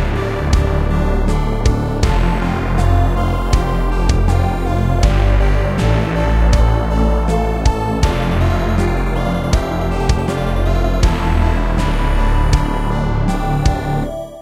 synth 0.0 - 14.4

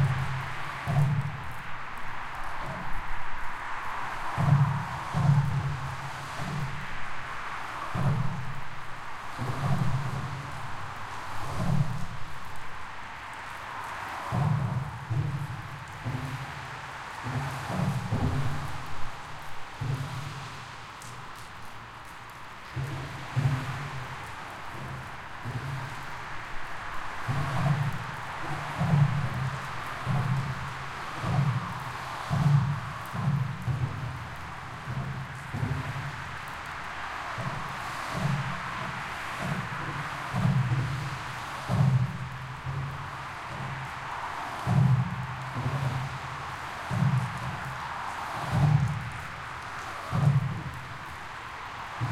Rain 0.0 - 52.1

